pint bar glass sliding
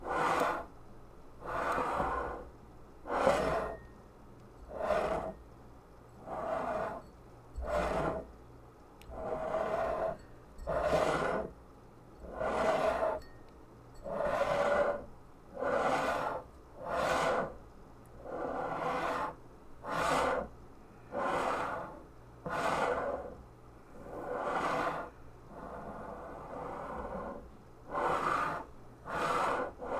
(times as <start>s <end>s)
1.4s 2.5s, 3.1s 3.9s, 4.7s 5.4s, 6.2s 8.3s, 9.1s 11.5s, 12.2s 13.3s, 14.0s 17.6s, 21.2s 23.4s, 24.1s 29.9s